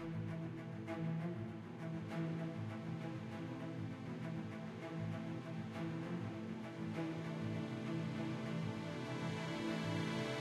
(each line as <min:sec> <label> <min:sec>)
0:00.0 Cello 0:10.4
0:00.0 Violin 0:10.4